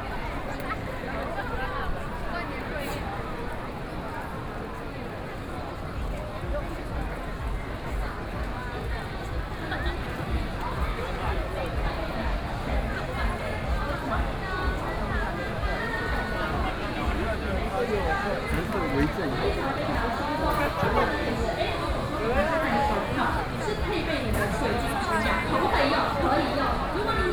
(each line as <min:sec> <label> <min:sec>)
0:00.0 The crowd 0:27.3
0:00.0 walking in the Street 0:27.3